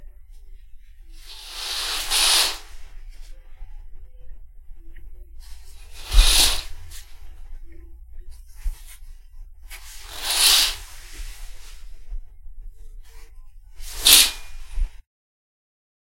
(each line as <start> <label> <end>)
1.2 Curtains opening and closing 2.9
5.7 Curtains opening and closing 7.2
9.8 Curtains opening and closing 11.9
13.8 Curtains opening and closing 15.0